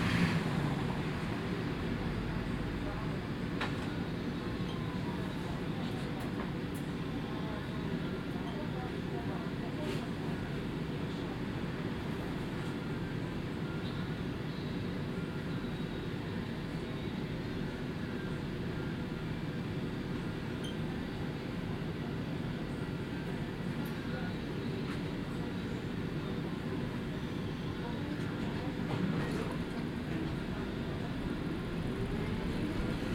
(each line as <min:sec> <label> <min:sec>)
0:00.0 Old model tram, lot of vibrating sounds 0:33.1